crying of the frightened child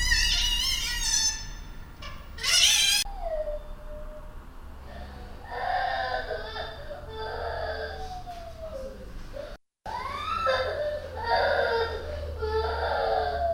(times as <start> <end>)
5.4 13.5